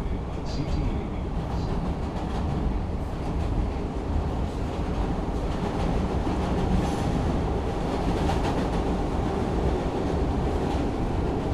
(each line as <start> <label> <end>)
0.0 Blue Line train 11.5